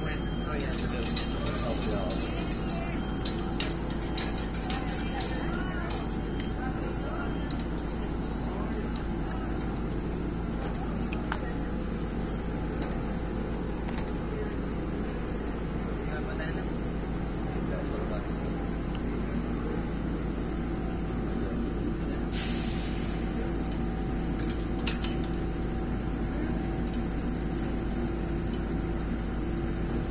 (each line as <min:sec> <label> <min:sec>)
0:00.0 speech 0:03.7
0:04.5 speech 0:09.9
0:10.6 speech 0:12.3
0:14.2 speech 0:20.2
0:17.9 trains 0:30.0
0:20.9 speech 0:23.6